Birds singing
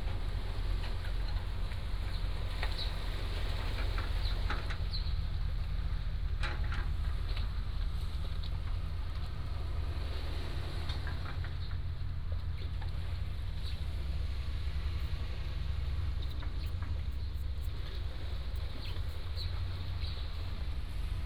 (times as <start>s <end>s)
16.2s 20.5s